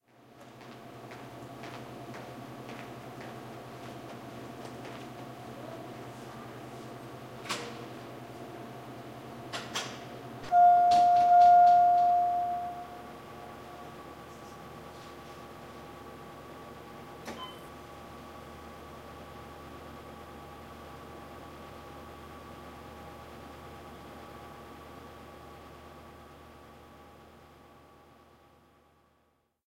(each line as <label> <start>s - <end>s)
elevator 9.5s - 14.4s